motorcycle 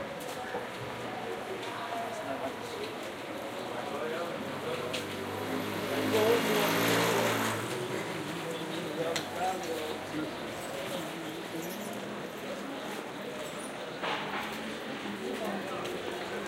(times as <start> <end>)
4.5 10.1